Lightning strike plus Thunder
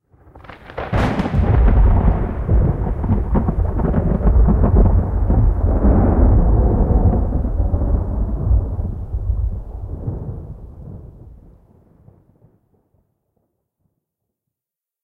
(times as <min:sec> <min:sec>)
0:00.7 0:11.2